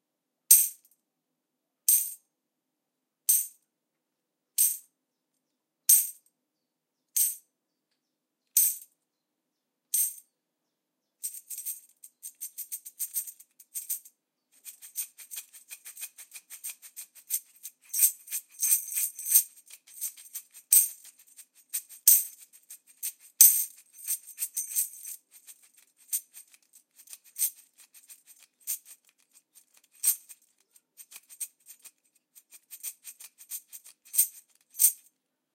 5.9s Tambourine 6.2s
11.2s Tambourine 35.1s

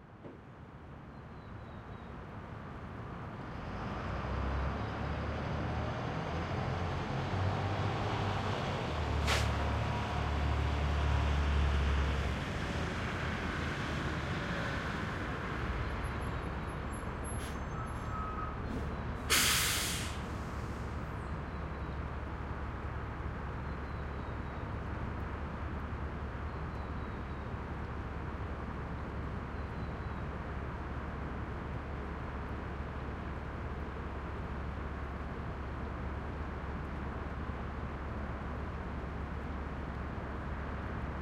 9.2s recycling truck collecting recyclables 10.4s
15.9s recycling truck collecting recyclables 21.9s

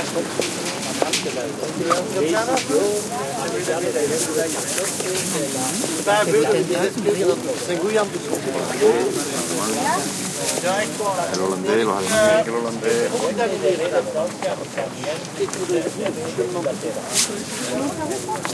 10.5s male and fenale voices speaking Dutch 17.0s

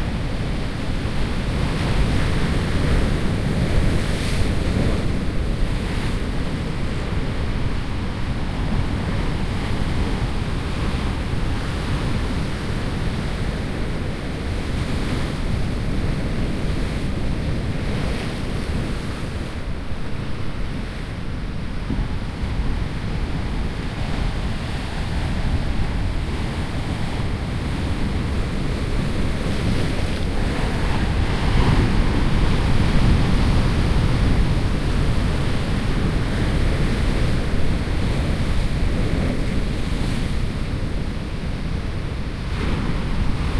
0.0s wind 43.5s

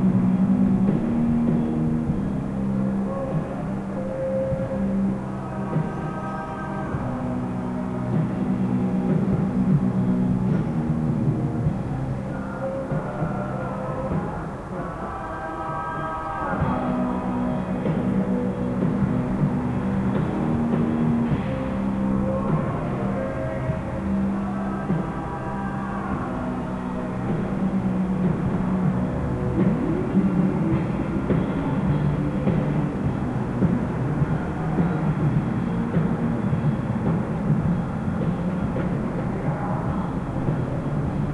0.0s city hum 41.3s
0.0s distant concert 41.3s
0.0s traffic 41.3s

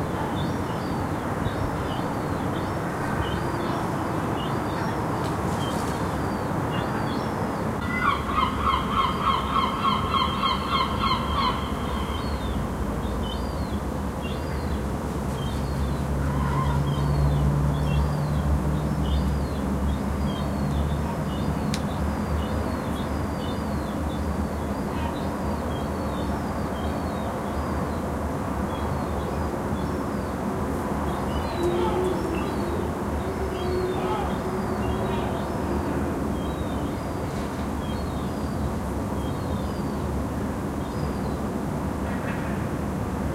31.2s seagulls 36.1s

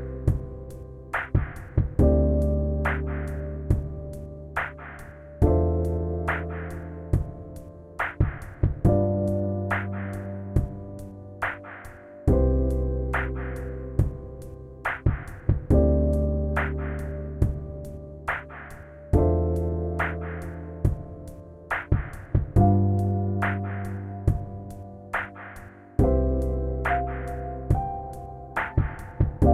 0.0s drums 29.5s
0.0s piano 29.5s

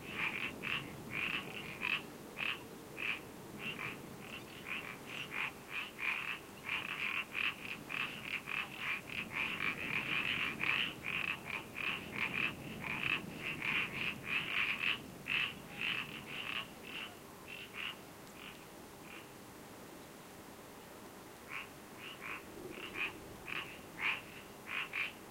0.0s marsh frogs calling 19.3s
0.0s birds 19.4s
21.5s marsh frogs calling 25.2s
21.5s birds 25.3s

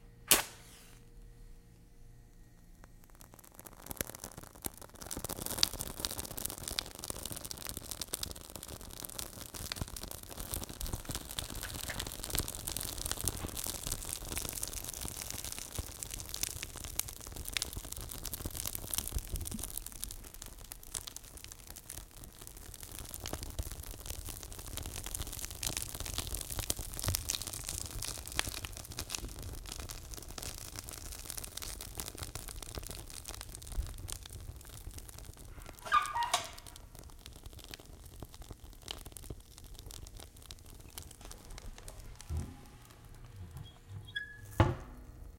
0.3s match strike 1.1s
0.3s paper burn crackle 1.1s
2.2s paper burn crackle 44.6s
42.2s metal door close 45.2s

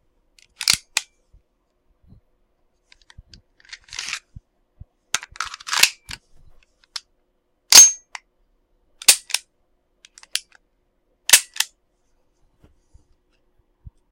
0.4s pulling out the mag 1.1s
0.4s placing the mag into the pistol 1.1s
2.9s placing the mag into the pistol 4.3s
3.0s pulling out the mag 4.2s
5.2s placing the mag into the pistol 6.2s
5.2s pulling out the mag 6.2s
9.0s placing the mag into the pistol 9.4s
9.0s pulling out the mag 9.4s
10.1s placing the mag into the pistol 10.6s
11.3s pulling out the mag 11.7s
11.3s placing the mag into the pistol 11.7s

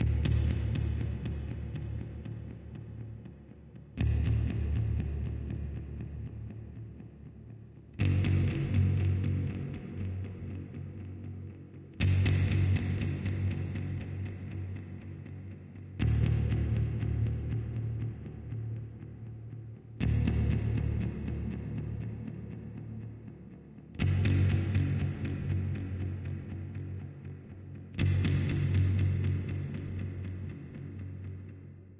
0.0s fender musicmaster bass 31.9s

